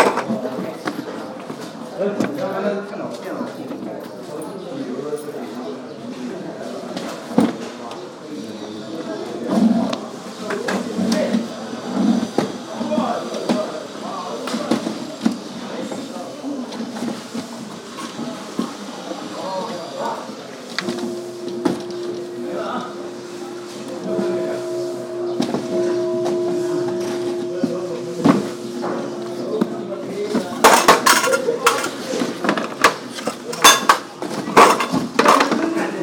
Tibetan bowl 0:20.8 - 0:32.3
Work in Progress sounds 0:20.8 - 0:33.6

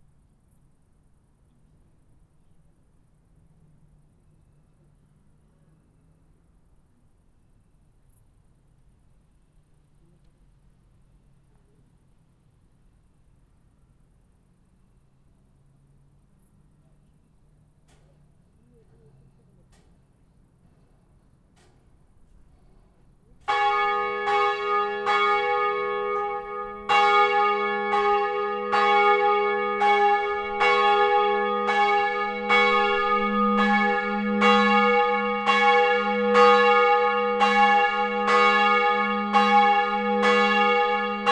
Church bells 0:23.3 - 0:41.3

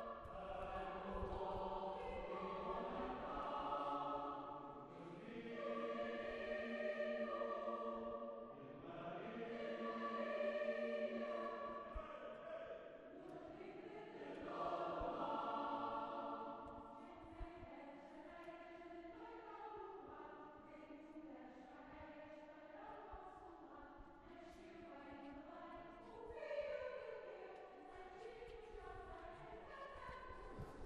choir concert 0:00.0 - 0:21.6
choir concert 0:24.4 - 0:30.8

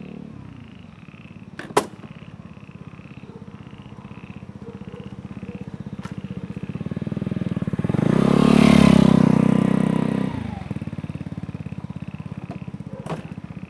Frogs chirping 0:00.4 - 0:06.8
Frogs chirping 0:10.7 - 0:13.6

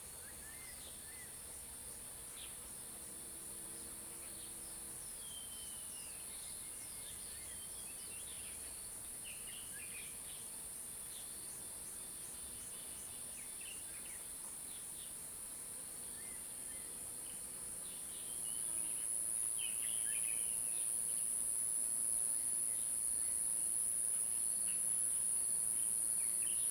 Insect sounds 0:16.1 - 0:26.7

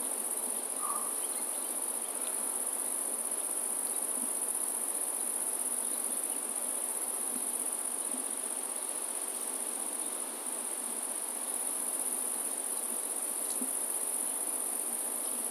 Insects 0:00.0 - 0:15.5
birds 0:00.8 - 0:02.4

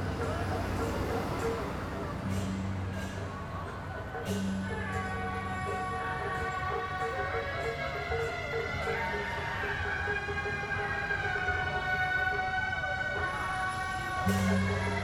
Traditional temple festival parade 0:00.0 - 0:15.0

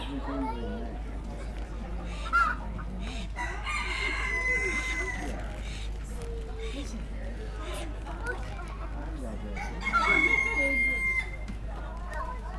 voices 0:00.0 - 0:12.5
chickens 0:01.2 - 0:12.5
ducks 0:01.4 - 0:06.9

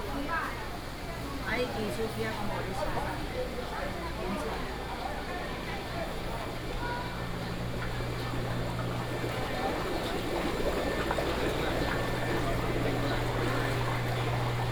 walking in the Public retail market 0:00.0 - 0:14.7
vendors peddling 0:07.5 - 0:14.7

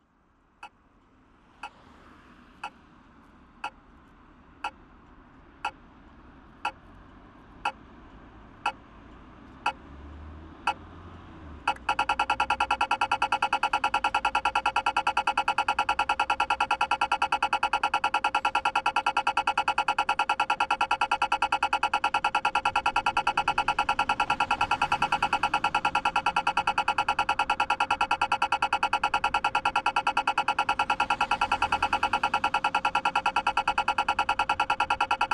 red light signal for pedestrians 0:01.6 - 0:01.8
red light signal for pedestrians 0:11.6 - 0:35.3

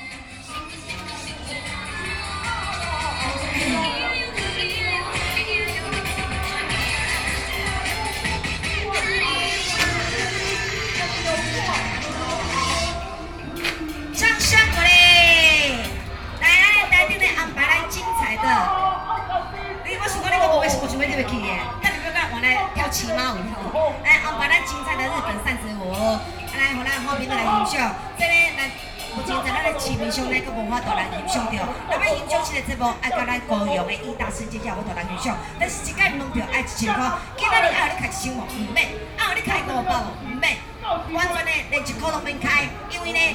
Taiwanese opera 0:00.0 - 0:43.3

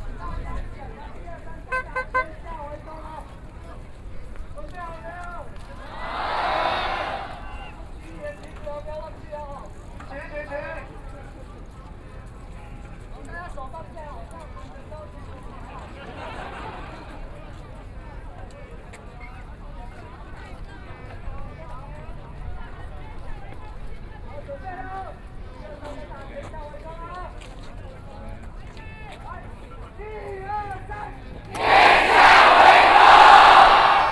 Thousand Protesters gather 0:05.0 - 0:07.8
Shouting slogans 0:05.7 - 0:07.7
Thousand Protesters gather 0:31.5 - 0:34.1
Shouting slogans 0:31.5 - 0:34.1
Everyone singing protest songs 0:31.6 - 0:34.1

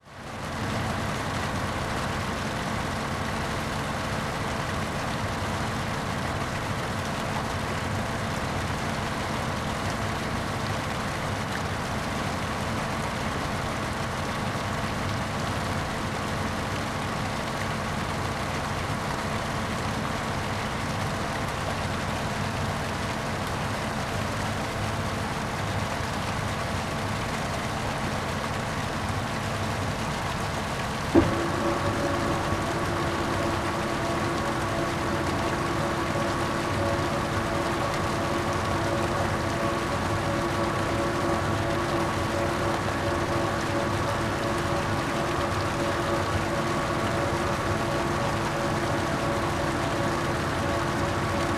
pump separates concrete and water 0:00.0 - 0:51.5
water runs into the basin 0:00.7 - 0:51.5
cleaning the drum of a concrete mixer truck 0:30.4 - 0:51.5
agitator starts agitating 0:31.2 - 0:51.5

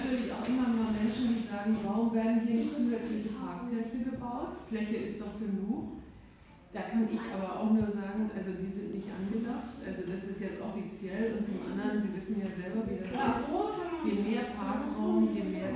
woman talks to a group of people 0:00.0 - 0:15.7

